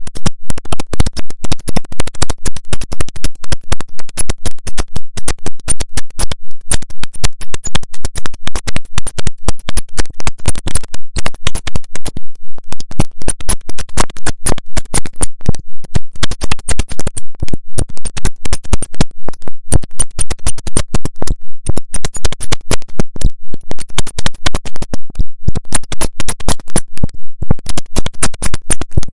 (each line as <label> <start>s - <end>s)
glitch 0.0s - 29.1s